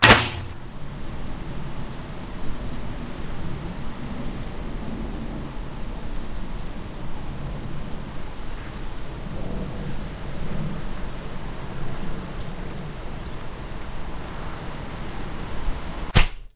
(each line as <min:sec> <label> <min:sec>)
0:00.0 Arrow flying 0:00.6
0:00.0 Impact 0:00.6
0:16.1 Arrow flying 0:16.5